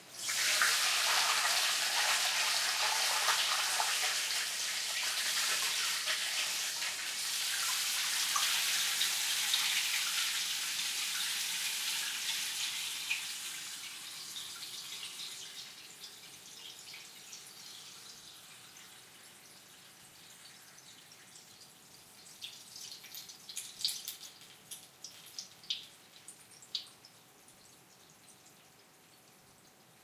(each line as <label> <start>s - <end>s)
Water Pipes 0.0s - 15.8s